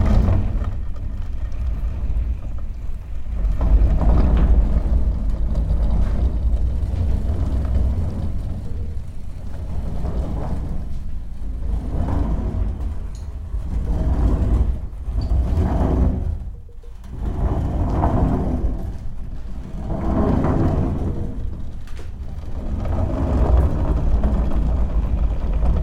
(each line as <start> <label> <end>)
0.0 Pulley 25.8